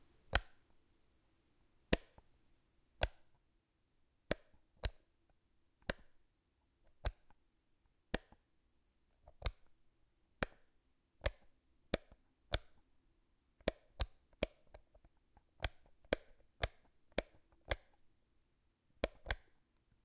0.3s Toggling on and off a small metal switch 0.6s
1.9s Toggling on and off a small metal switch 2.2s
3.0s Toggling on and off a small metal switch 3.3s
5.8s Toggling on and off a small metal switch 6.2s
6.9s Toggling on and off a small metal switch 7.3s
9.3s Toggling on and off a small metal switch 9.7s
11.2s Toggling on and off a small metal switch 12.8s
15.6s Toggling on and off a small metal switch 18.0s
19.0s Toggling on and off a small metal switch 19.6s

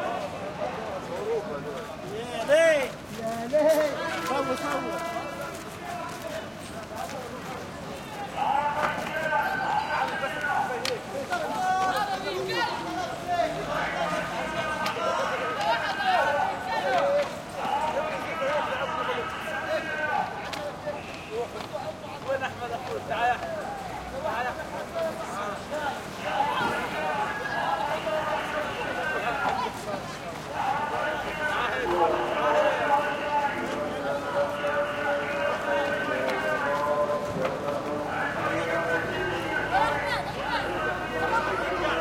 0.0s orange vendor on PA 42.0s
0.0s traffic 42.0s
25.1s arabic voices vendors throaty 42.0s

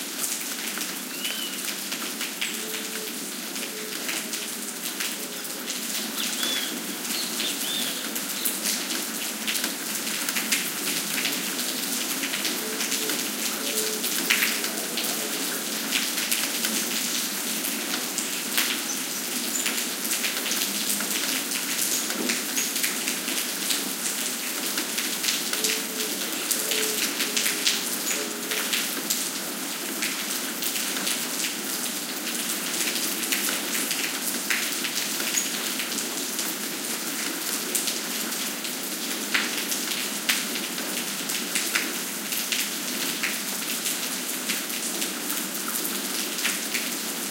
0.0s rain on pavement 47.3s
1.1s bird callings 1.6s
6.2s bird callings 8.1s

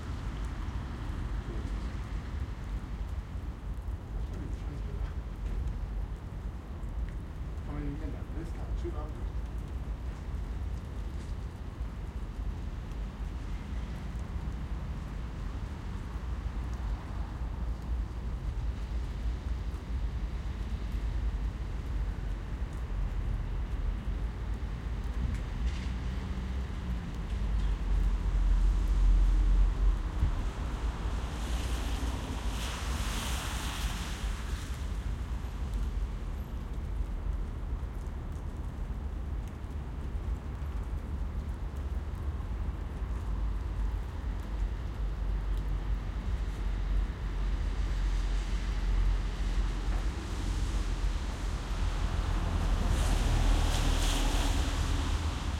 0.0s Light rain 55.5s
0.0s raindrops from trees 55.5s
25.7s cars passing by 35.8s
47.7s cars passing by 55.5s

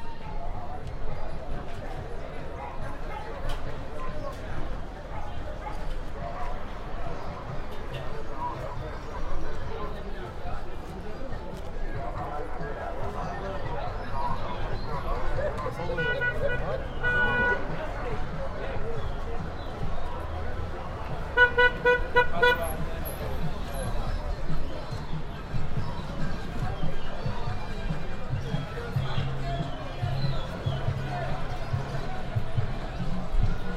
13.3s People calling to sell 33.7s
13.6s little traffic 33.7s
15.8s horns 18.1s
21.0s horns 24.1s

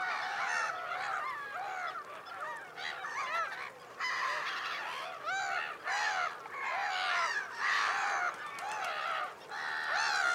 0.0s Egyptian geese 10.3s
0.0s black-headed gulls 10.3s
0.0s greylag geese 10.3s
0.0s woodpigeons 10.3s

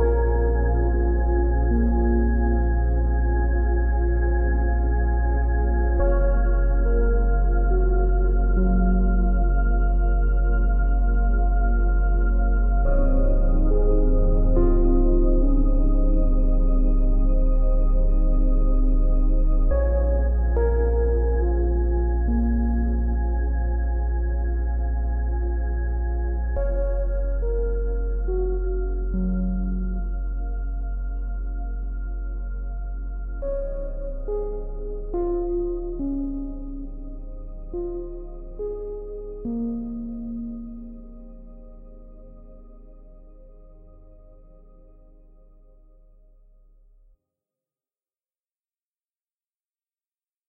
0.0s Warm and sad pad 46.6s
0.0s piano 47.0s

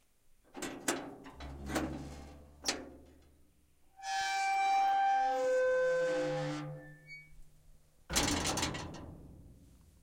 8.1s gate 9.2s

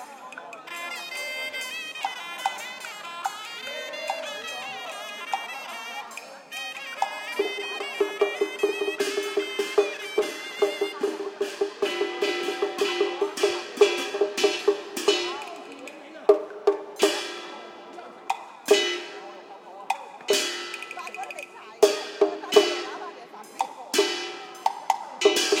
0.0s human voices 9.6s
0.0s Chinese musical instruments 25.6s
0.0s Elderly were chatting 25.6s

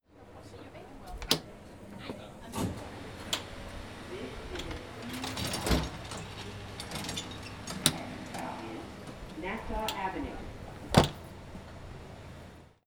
0.1s subway 12.8s
0.2s Openning door between trains 12.8s
1.0s door closing 12.8s
4.6s rattle of chains 10.2s

